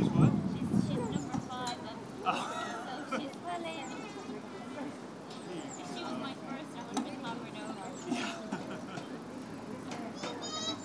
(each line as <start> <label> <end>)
1.2 river 6.9